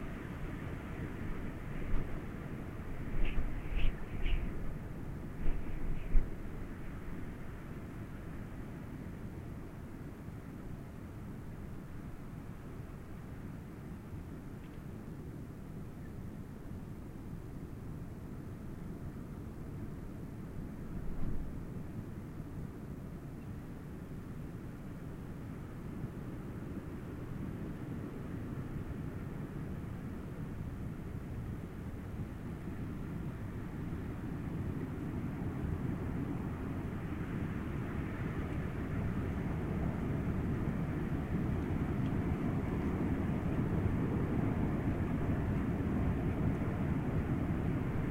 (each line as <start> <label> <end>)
1.2 Wind howling 7.3